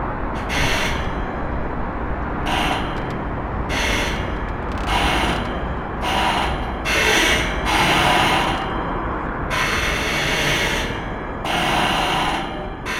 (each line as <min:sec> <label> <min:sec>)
0:00.4 pontoon creaking at the mercy of the waves 0:09.0